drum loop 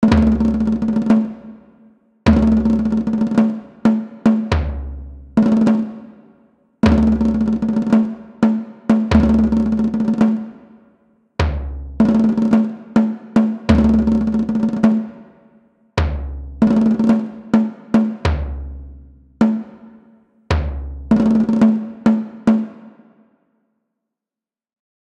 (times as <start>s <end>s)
2.3s 5.9s, 6.8s 10.4s, 11.4s 15.0s, 16.0s 18.8s, 20.5s 22.6s